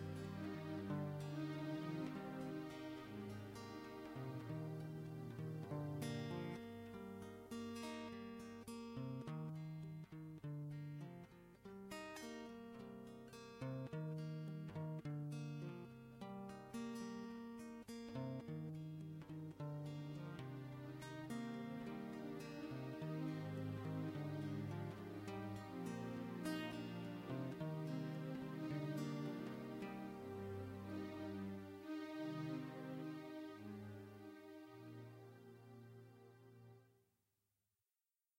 Orchestral 0:00.0 - 0:05.8
guitar simple melody motif 0:00.0 - 0:36.8
Chorus under guitar repeating melody 0:18.2 - 0:34.2
Orchestral 0:21.8 - 0:36.3

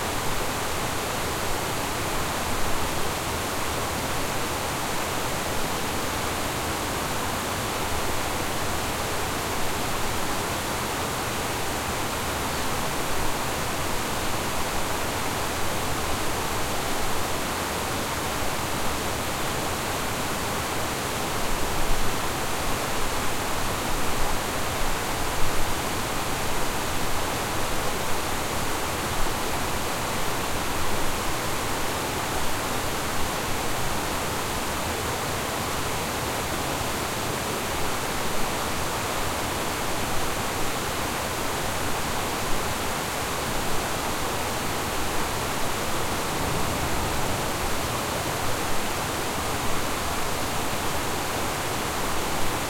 Water streams on a dam beetween two ponds 0:00.0 - 0:52.6

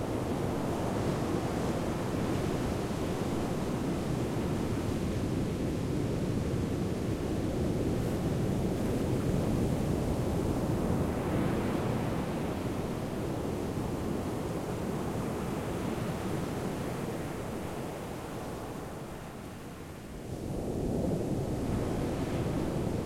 big waves breaking on a sandy beach 0:00.1 - 0:23.0

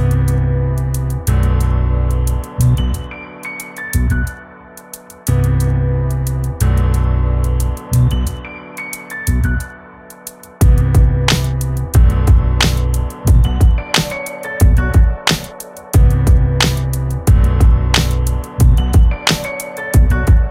bass 0:00.0 - 0:03.2
piano 0:00.0 - 0:20.5
bass 0:03.9 - 0:04.5
bass 0:05.3 - 0:09.8
bass 0:10.6 - 0:20.5
drum 0:10.6 - 0:20.5

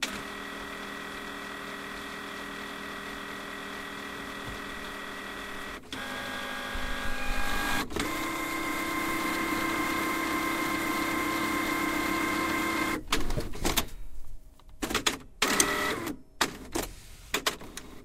printer warming up 0:00.0 - 0:13.1
printer warming up 0:15.4 - 0:16.2

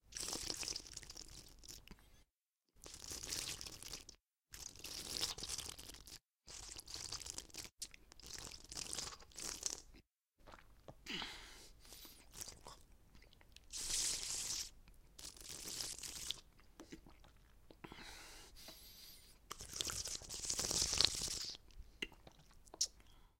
vampire sucks blood from his victim's neck 0:13.7 - 0:16.4

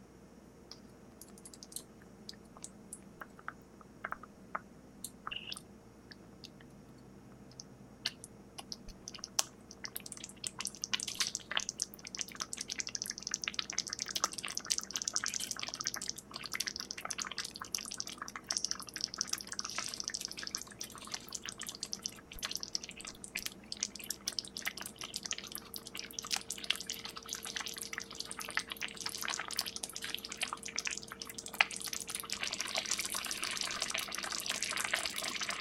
simmering sauce on the stove 0:08.9 - 0:35.6

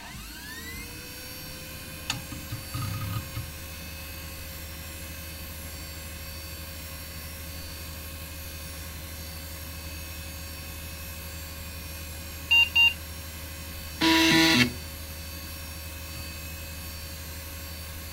3.5 floppy drive 0:02.0 - 0:03.6
POST beep 0:12.5 - 0:13.0
POST beep 0:14.0 - 0:14.8
hard drive 0:14.0 - 0:14.8
3.5 floppy drive 0:14.0 - 0:14.9

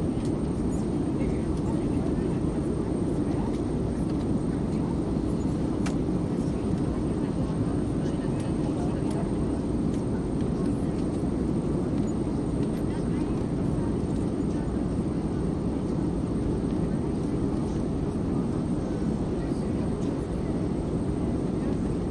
airplane 0:00.0 - 0:22.1

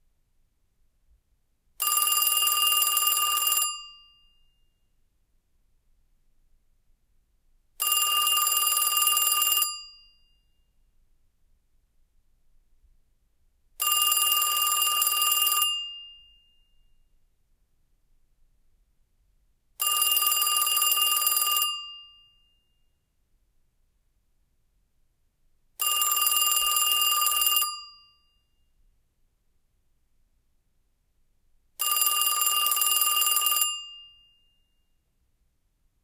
Telephone Ringing 0:01.8 - 0:04.4
Telephone Ringing 0:07.8 - 0:10.4
Telephone Ringing 0:13.8 - 0:16.8
Telephone Ringing 0:19.8 - 0:22.8
Telephone Ringing 0:25.8 - 0:28.4
Telephone Ringing 0:31.8 - 0:34.6

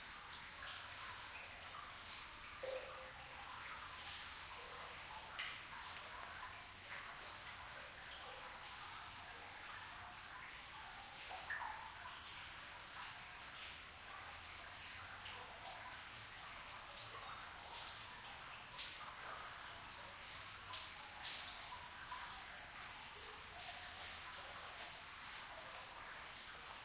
Cave water drops 0:00.0 - 0:26.8
water flowing at distance 0:00.0 - 0:26.8

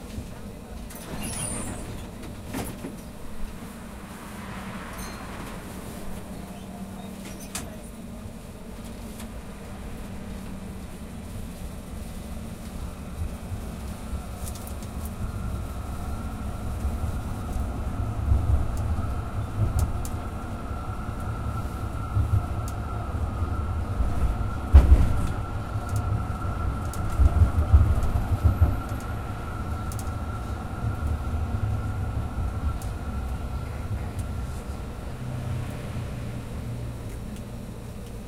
tram 0:00.0 - 0:38.2

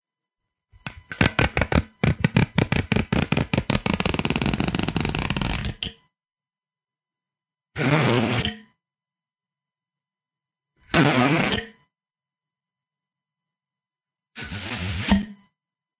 Hollow tube zipper sound 0:01.0 - 0:05.9
Hollow tube zipper sound 0:07.8 - 0:08.7
Hollow tube zipper sound 0:10.8 - 0:11.8
Hollow tube zipper sound 0:14.4 - 0:15.3

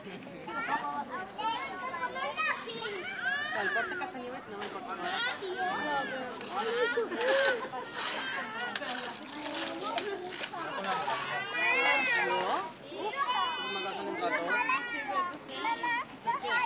children 0:00.0 - 0:16.6
parents 0:00.0 - 0:16.6

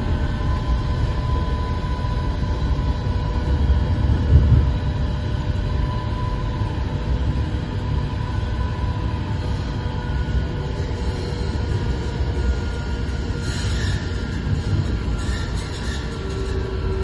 sounds of passengers 0:00.0 - 0:17.0
tram 0:00.0 - 0:17.0

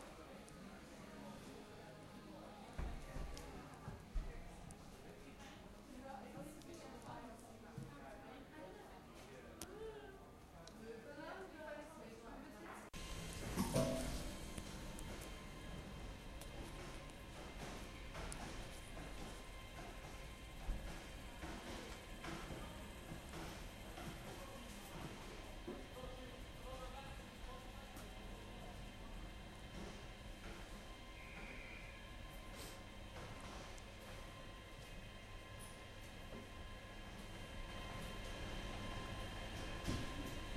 another train departing on the background 0:13.0 - 0:40.5
train departing towards the end of the recording 0:13.0 - 0:40.5
train doors closing 0:13.0 - 0:23.8

